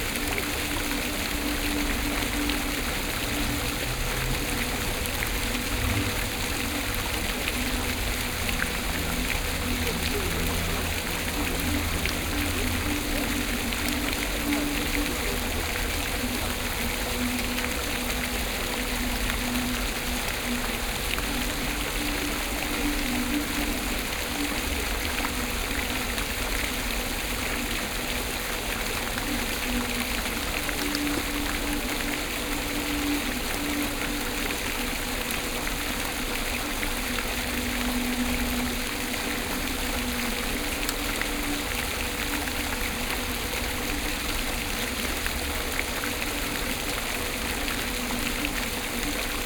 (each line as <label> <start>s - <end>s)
fountain 0.0s - 49.4s